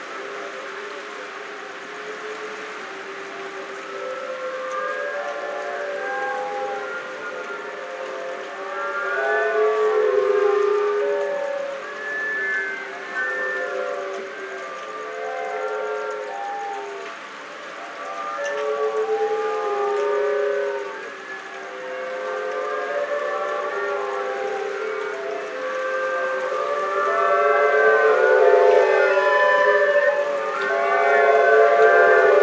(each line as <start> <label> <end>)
0.0 bamboo-flutes orchestra played by the waves 32.4
0.0 waves 32.4